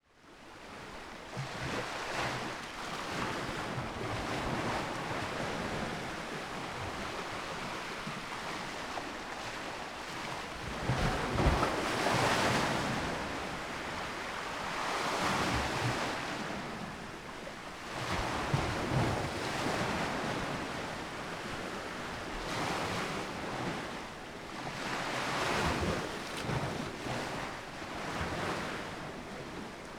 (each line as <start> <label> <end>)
24.8 sea waves lapping, hitting and splashing on the concrete terrace 28.8